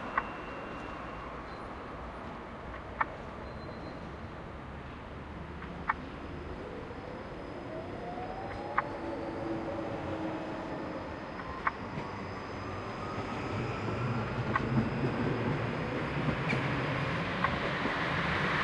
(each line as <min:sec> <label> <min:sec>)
0:00.0 traffic 0:18.6
0:00.0 tramway 0:18.6